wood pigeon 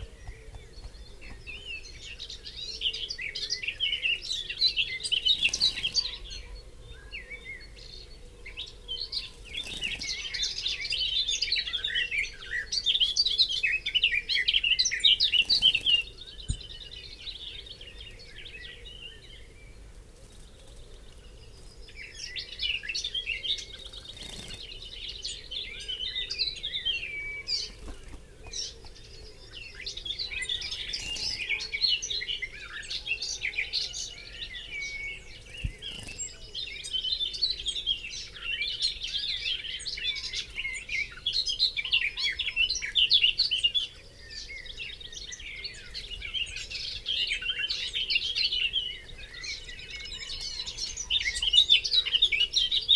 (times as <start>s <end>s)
0.0s 38.4s